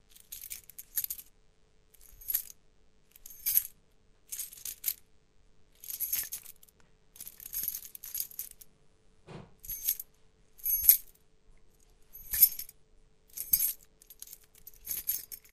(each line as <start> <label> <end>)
0.1 Tossing a keychain up and down 1.3
2.0 Tossing a keychain up and down 2.6
3.2 Tossing a keychain up and down 5.0
5.8 Tossing a keychain up and down 8.6
9.6 Tossing a keychain up and down 11.1
12.1 Tossing a keychain up and down 12.7
13.3 Tossing a keychain up and down 15.5